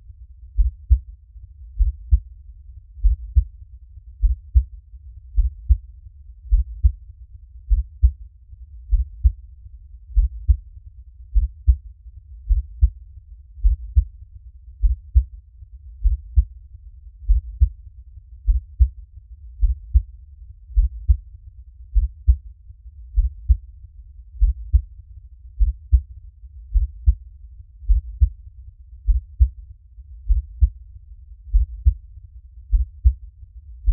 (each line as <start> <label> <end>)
0.5 heartbeat 1.1
1.7 heartbeat 2.4
3.0 heartbeat 7.0
7.6 heartbeat 8.2
8.8 heartbeat 9.5
10.1 heartbeat 10.7
11.3 heartbeat 13.0
13.6 heartbeat 14.2
14.8 heartbeat 15.4
16.0 heartbeat 16.6
17.2 heartbeat 17.8
18.4 heartbeat 19.0
19.6 heartbeat 21.3
21.9 heartbeat 22.5
23.1 heartbeat 23.7
24.3 heartbeat 24.9
25.5 heartbeat 26.1
26.7 heartbeat 28.4
29.0 heartbeat 29.6
30.2 heartbeat 30.8
31.4 heartbeat 33.2